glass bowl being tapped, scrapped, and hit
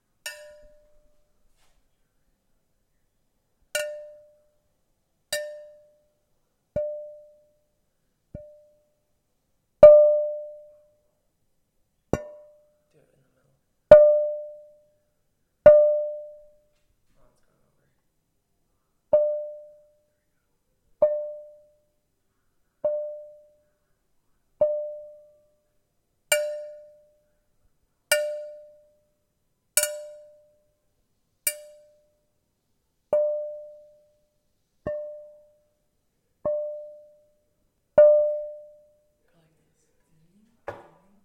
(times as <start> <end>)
0.2 1.3, 3.8 4.6, 5.3 6.1, 12.1 12.8, 26.3 27.2, 28.1 29.1, 29.8 30.6, 31.4 32.2, 38.0 38.9